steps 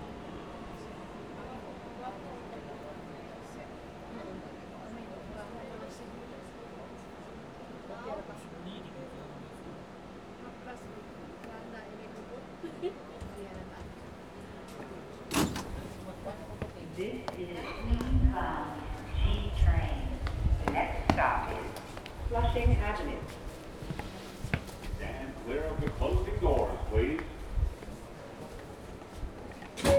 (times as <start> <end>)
15.6 29.6